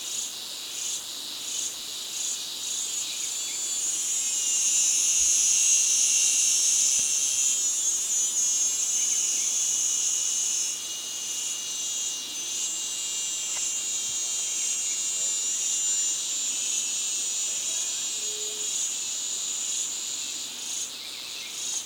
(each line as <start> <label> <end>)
0.0 insects 21.8